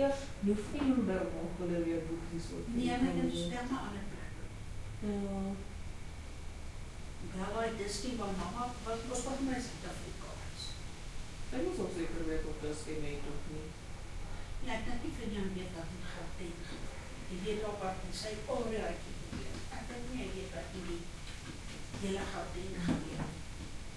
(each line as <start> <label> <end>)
0.0 Afrikaans Voices 5.6